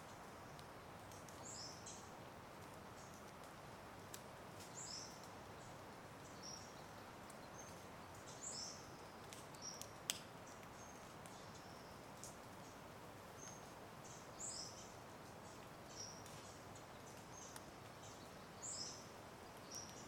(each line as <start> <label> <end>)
0.0 dripping tree sounds 20.0